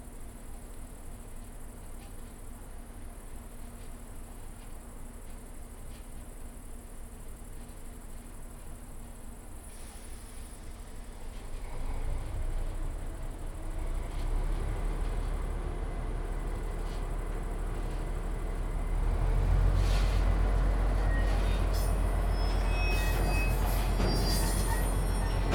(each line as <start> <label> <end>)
19.7 Cargo Carriages Shunting 25.5